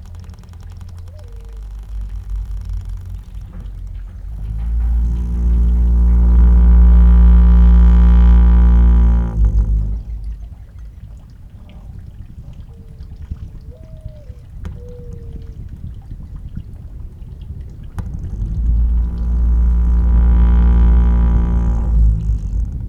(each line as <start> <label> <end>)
0.0 wind 22.8
1.0 Windmill screaming 10.6
17.9 Windmill screaming 22.8